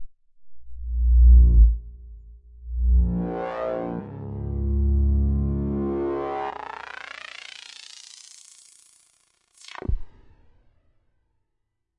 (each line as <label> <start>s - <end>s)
bass 0.0s - 8.0s